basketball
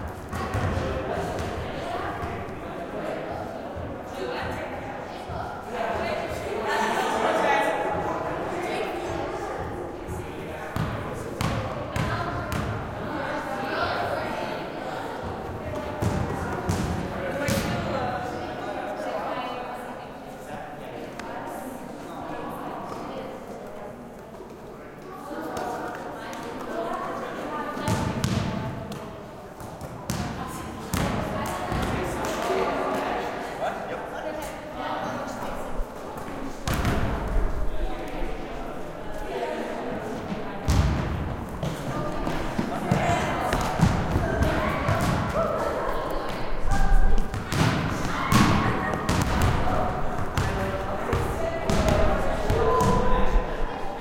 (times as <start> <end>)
0.3 1.6, 10.7 12.9, 15.7 17.9, 27.8 32.4, 36.6 37.4, 40.6 45.6, 46.7 53.1